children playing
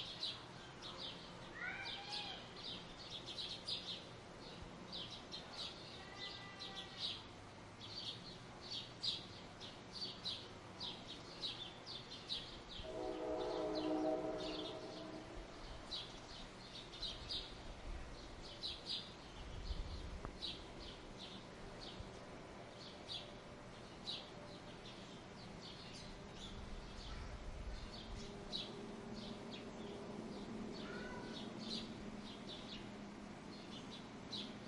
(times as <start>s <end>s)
30.8s 31.5s